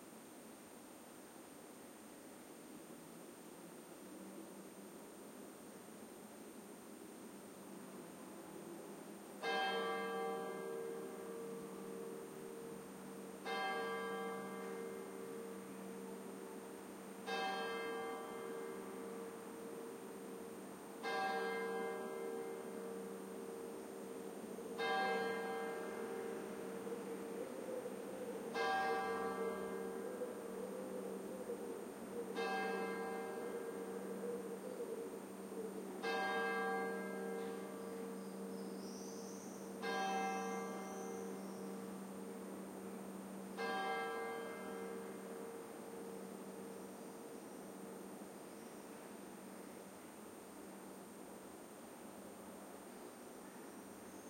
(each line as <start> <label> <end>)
0.0 city background noise 54.2
9.4 Church clock striking 10 pm 16.4
17.2 Church clock striking 10 pm 27.4
28.5 Church clock striking 10 pm 30.0
32.4 Church clock striking 10 pm 34.1
36.0 Church clock striking 10 pm 37.8
39.8 Church clock striking 10 pm 42.4
43.2 Church clock striking 10 pm 46.6